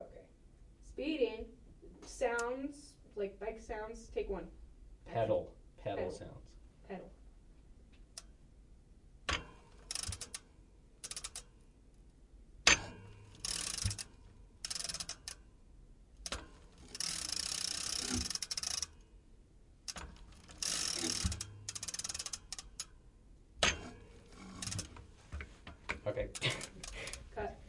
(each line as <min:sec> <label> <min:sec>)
0:09.3 Pedal and bike clicking noise 0:11.5
0:12.7 Pedal and bike clicking noise 0:15.4
0:16.2 Pedal and bike clicking noise 0:19.0
0:19.8 Pedal and bike clicking noise 0:23.0
0:23.6 Pedal and bike clicking noise 0:27.2